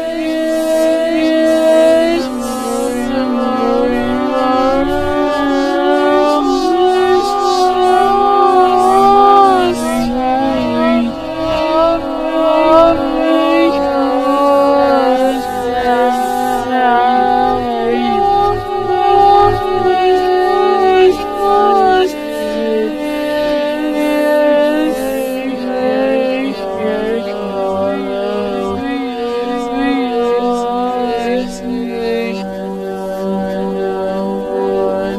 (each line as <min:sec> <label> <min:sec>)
0:00.0 Scream 0:35.1